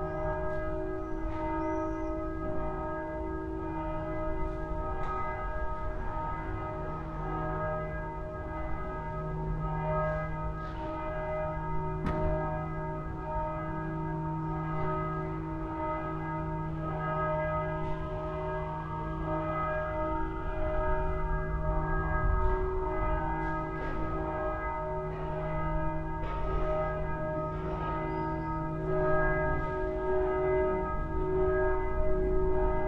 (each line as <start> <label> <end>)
0.0 church bells 32.8